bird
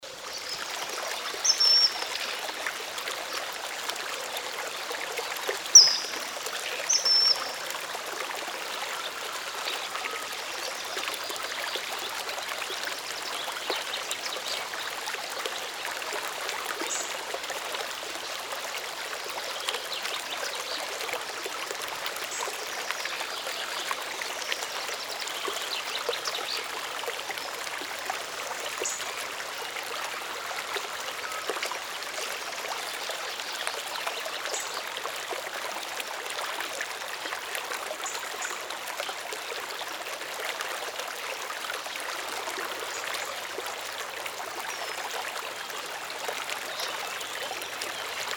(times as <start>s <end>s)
5.7s 6.2s